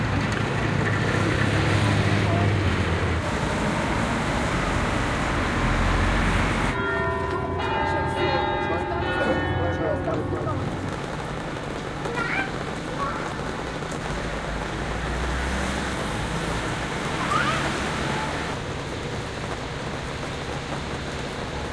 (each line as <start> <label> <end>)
0.0 Pedestrians 21.7
0.0 traffic noise 21.7
3.2 church bells 11.4